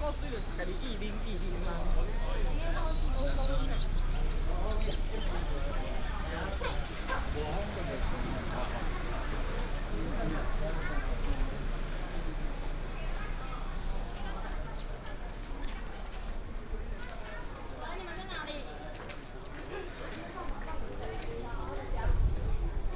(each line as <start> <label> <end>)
0.0 Crowded crowd 22.9